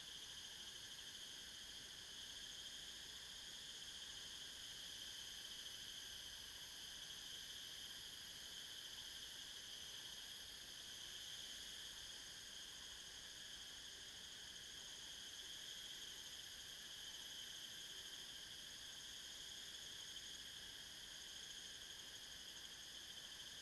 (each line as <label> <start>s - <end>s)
cicadas 0.0s - 23.6s